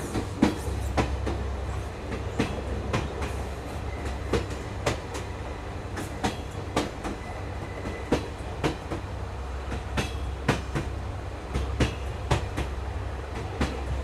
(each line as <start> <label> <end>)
0.0 Départ intérieur train 14.0